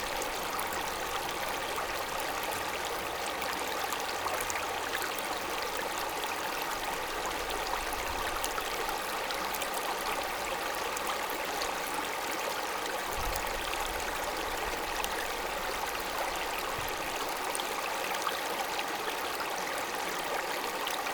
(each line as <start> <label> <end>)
0.0 small river 21.1